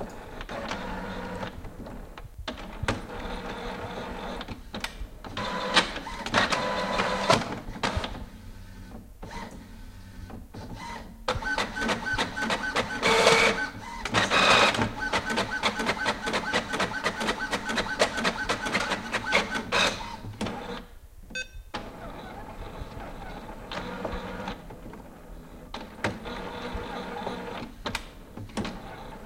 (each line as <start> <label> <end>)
0.0 Printer 20.9
21.7 Printer 29.2